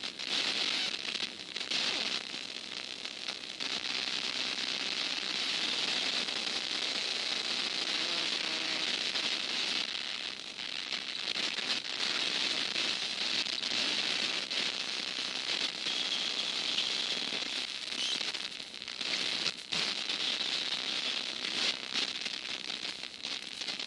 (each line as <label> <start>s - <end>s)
small, wood-designed computer speaker crackling with a static-like sound 0.0s - 23.8s